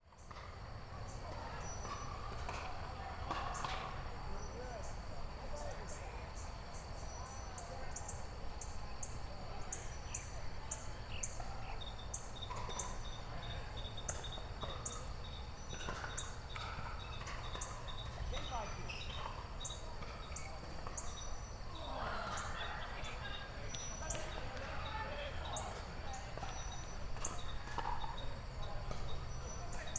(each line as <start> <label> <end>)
11.4 pickleball being played 29.9